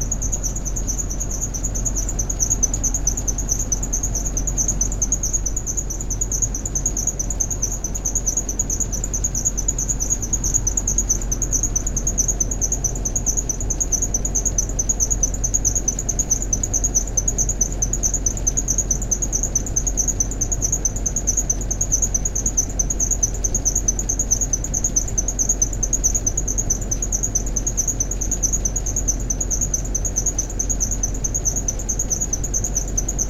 Big industrial fan 0:00.0 - 0:33.2

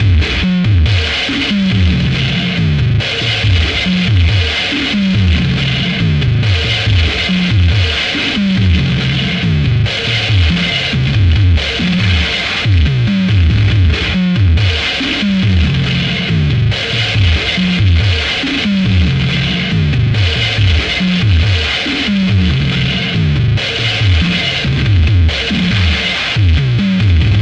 drumloop 0:00.0 - 0:27.4

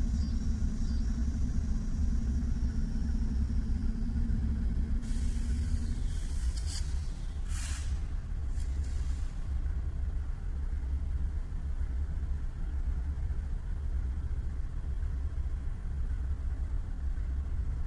train pulling away 0:00.0 - 0:09.7
Deisel locomotive standing and filling air brakes 0:05.0 - 0:09.7

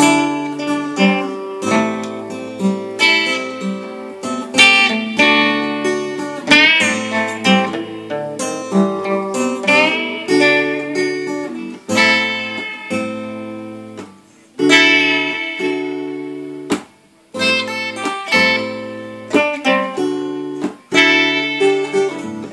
Uneek guitar experiments 0:00.0 - 0:22.5

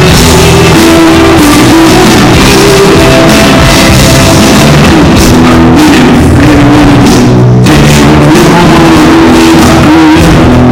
Strong distortions on loud sounds 0:00.0 - 0:10.7
concert 0:00.0 - 0:10.7

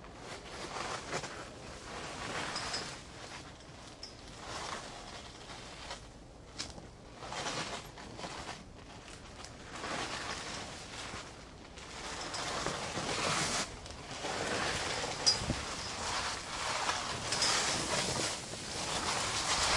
plastic car tent flap 0:04.5 - 0:19.7

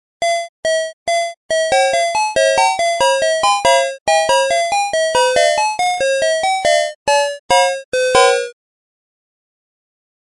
song 0:00.3 - 0:08.6

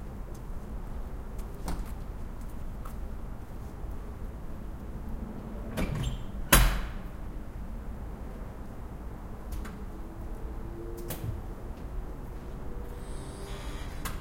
cars 0:04.3 - 0:14.2
trucks 0:09.7 - 0:14.2

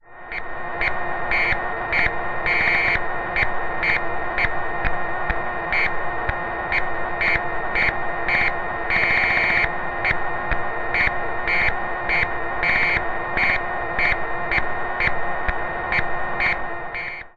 Console of spacecraft with whirring and bleeps 0:00.2 - 0:04.9
Console of spacecraft with whirring and bleeps 0:05.5 - 0:06.0
Console of spacecraft with whirring and bleeps 0:06.7 - 0:17.3

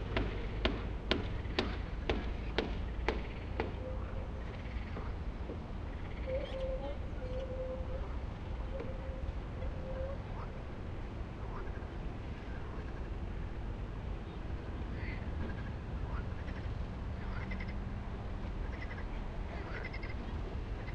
birds 0:00.2 - 0:05.2
birds 0:05.8 - 0:10.5
frogs 0:15.0 - 0:17.8
frogs 0:18.7 - 0:20.2

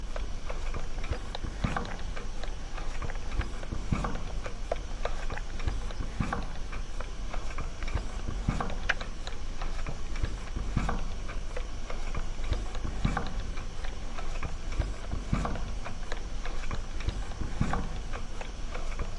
gas meter 0:00.0 - 0:19.1
quiet noise of running gas boiler 0:00.0 - 0:19.1

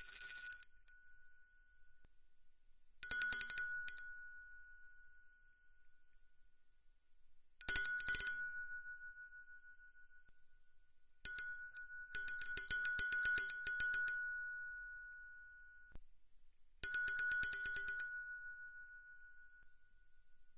small bells ringing 0:11.3 - 0:15.9
small bells ringing 0:16.8 - 0:20.0

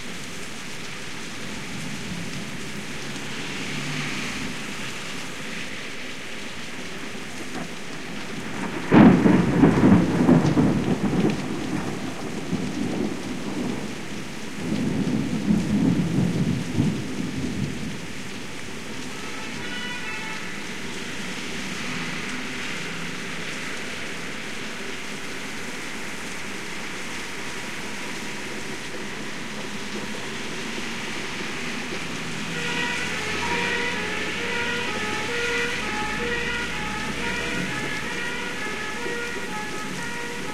rain on window 0:00.0 - 0:40.5
thunderstorm 0:07.4 - 0:18.4
old style english fire engine siren 0:18.7 - 0:40.5
thunderstorm 0:29.0 - 0:40.5

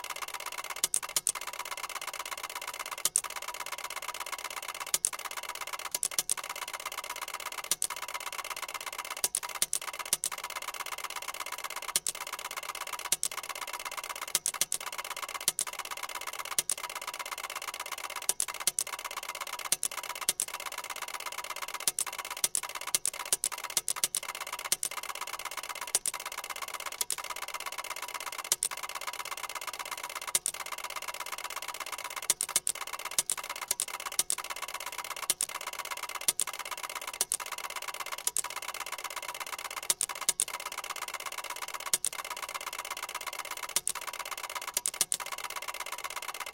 Ticker Tape Machine 0:00.0 - 0:46.5

